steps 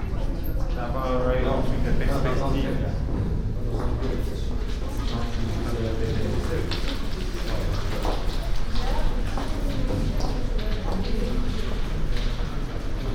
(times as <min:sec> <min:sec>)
0:03.0 0:13.1